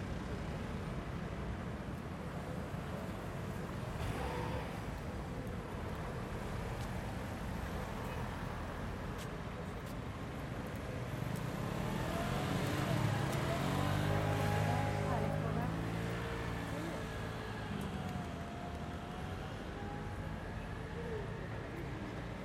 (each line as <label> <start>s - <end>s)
Mild traffic 0.0s - 22.4s
people passing by, talking 0.0s - 22.4s